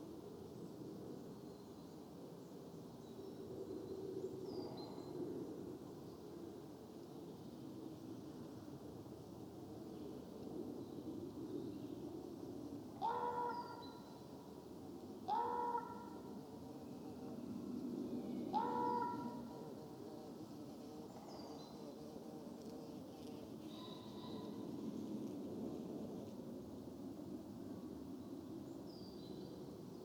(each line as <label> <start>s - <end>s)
gentle breeze blowing in the tops of the trees 0.0s - 30.0s
one makes unusual calls from a tall fir 13.0s - 13.8s
one makes unusual calls from a tall fir 15.3s - 16.3s
one makes unusual calls from a tall fir 18.5s - 19.4s